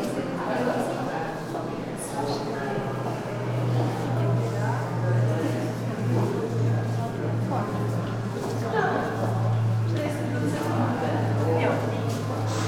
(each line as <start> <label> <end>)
0.0 voices 12.6